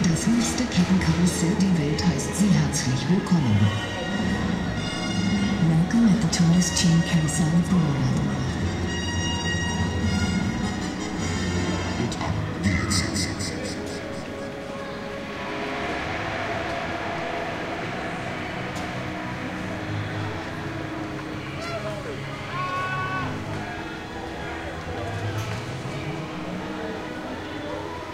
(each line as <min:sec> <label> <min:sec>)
0:00.0 people 0:28.1